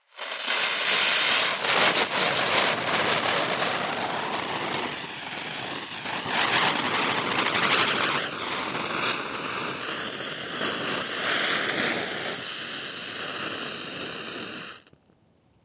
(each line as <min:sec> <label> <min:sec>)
0:00.0 Spinning Firecracker 0:15.0